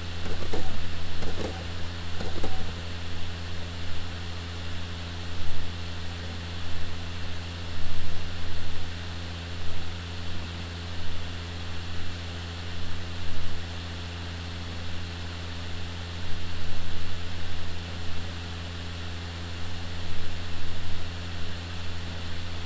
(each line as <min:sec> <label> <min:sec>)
0:00.2 SuperDrive reading a DVD 0:02.8